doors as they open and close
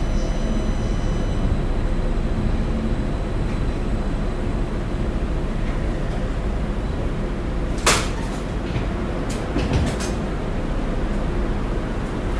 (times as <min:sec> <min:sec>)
0:07.7 0:10.4